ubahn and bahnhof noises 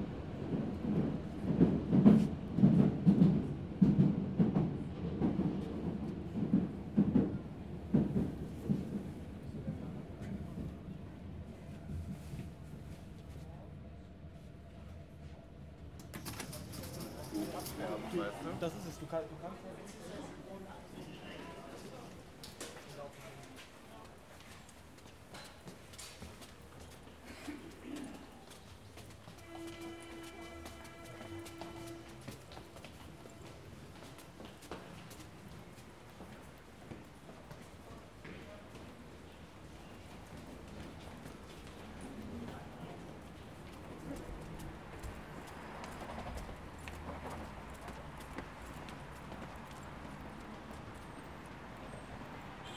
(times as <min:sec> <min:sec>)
0:29.3 0:36.4